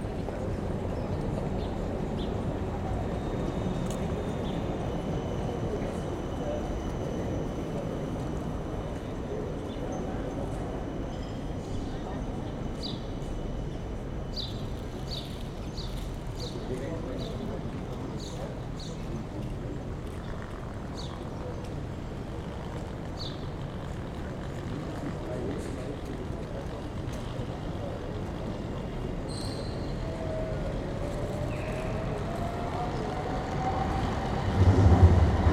scattered conversations 0.0 - 35.5
speeding bus 0.0 - 35.5
tram engines and wheels 0.0 - 35.5
aircraft flyover at low range 14.6 - 29.3
subtle birds 29.3 - 34.1
aircraft flyover at low range 29.9 - 35.5

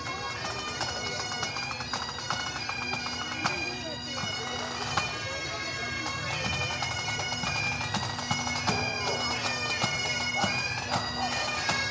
Pipes and Drums passing our shady spot 0.0 - 11.9

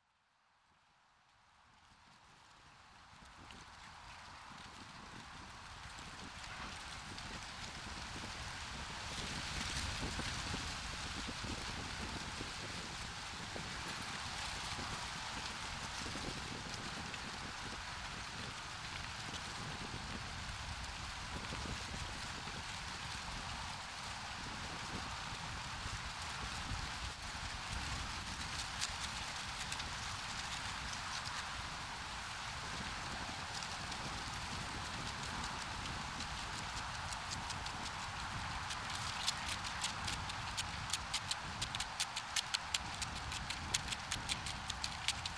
Leaf in the Wind 24.8 - 45.3

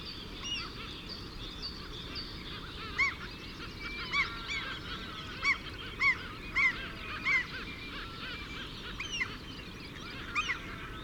curlew 2.5 - 11.0

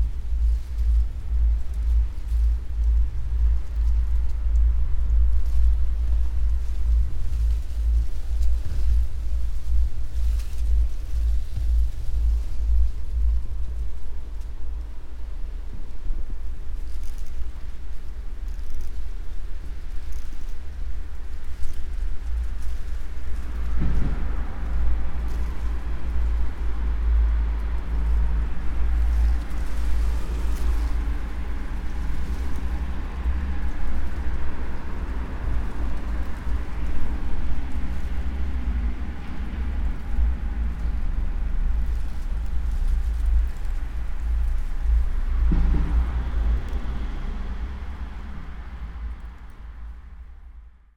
japanese paper, moved by wind 0.0 - 50.9
traffic 0.0 - 50.9
passersby 21.9 - 50.9

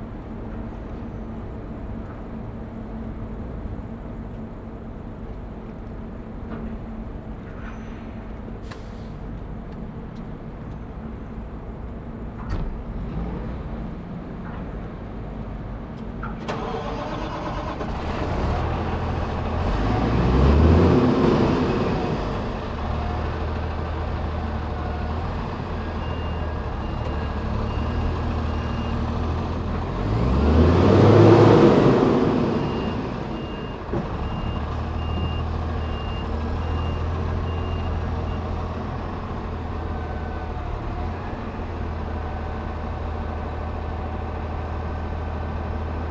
ferry docking and unloading 0.0 - 46.1

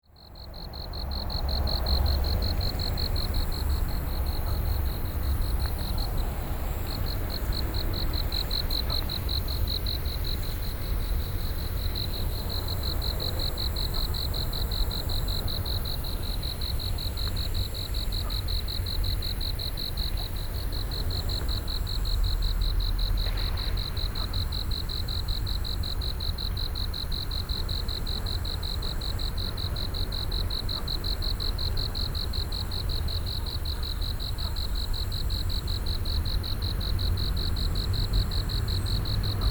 Traffic Sound 0.1 - 31.2
Insects sounds 0.2 - 39.5
Traffic Sound 35.7 - 39.5

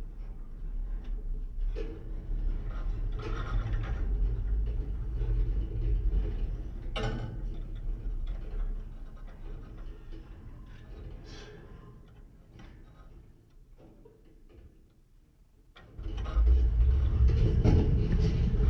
Singing/rumbling wire 16.0 - 18.6

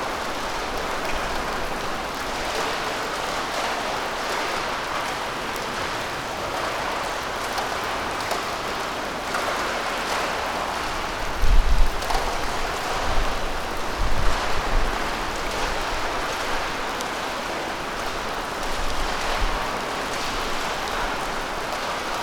rain 0.0 - 22.2

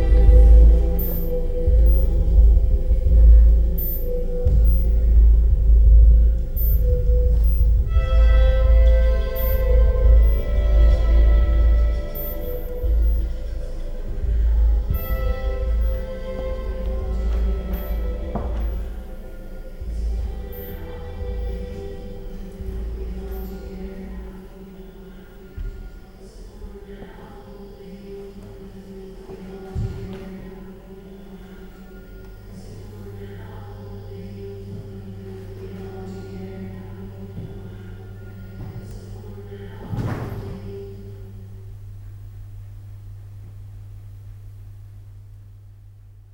bühnenmusik 0.0 - 26.8

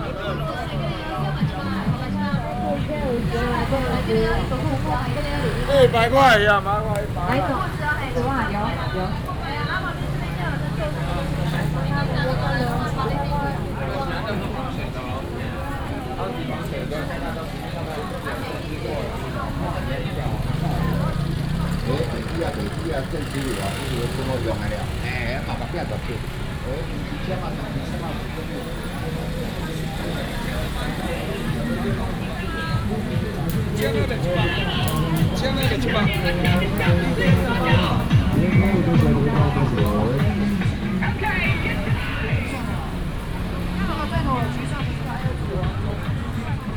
Traffic sound 0.0 - 46.7
Walking in the traditional market 0.0 - 46.7

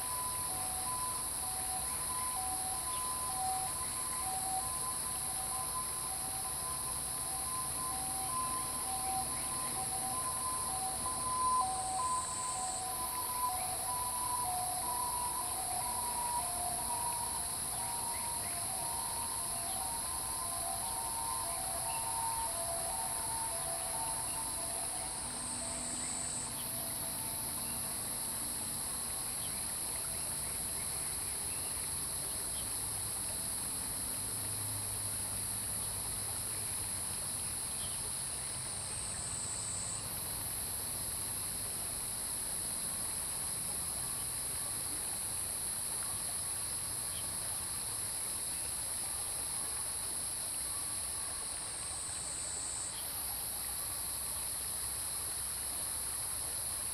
Stream 0.0 - 56.9

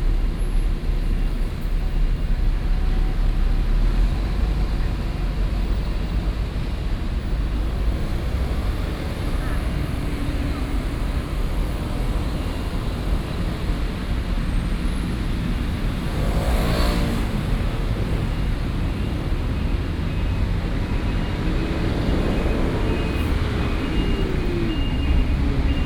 Traffic Sound 0.0 - 25.8

